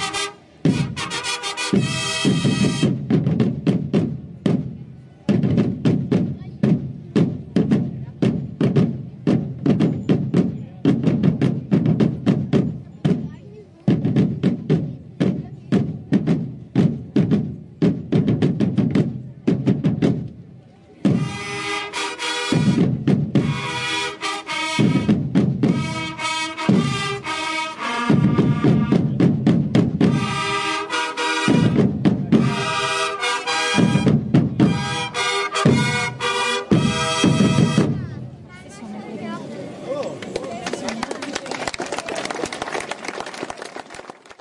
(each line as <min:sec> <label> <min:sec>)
0:00.0 trumpets 0:03.2
0:00.0 drumm roll 0:38.5
0:21.1 trumpets 0:29.3
0:30.0 trumpets 0:38.1